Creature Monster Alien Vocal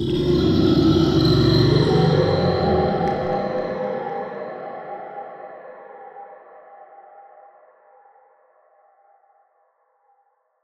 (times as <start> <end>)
0.0 4.1